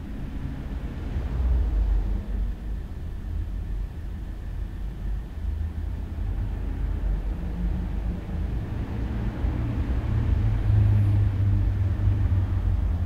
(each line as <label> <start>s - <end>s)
Traffic 0.0s - 13.0s